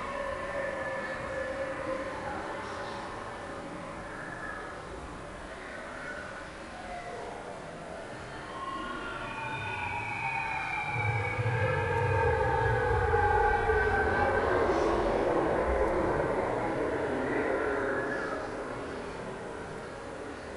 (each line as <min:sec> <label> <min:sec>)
0:08.5 scary monsters living in caves 0:20.5